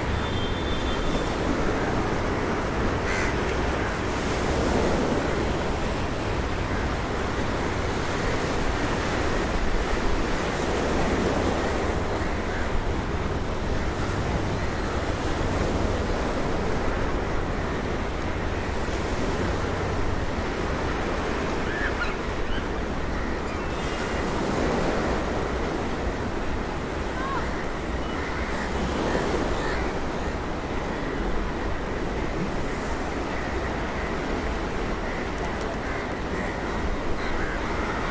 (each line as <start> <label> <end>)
0.0 ocean waves against sea wall 38.1
0.1 distant traffic horn honks 1.5
3.0 nearby crows 4.2
27.4 nearby crows 31.2
33.3 nearby crows 38.1